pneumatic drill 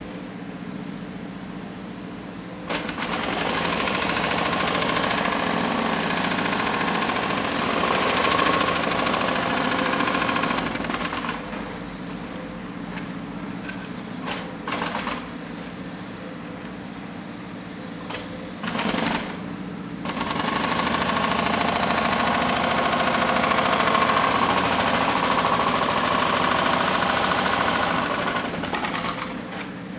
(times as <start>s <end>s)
2.7s 11.5s, 13.7s 15.4s, 18.0s 29.9s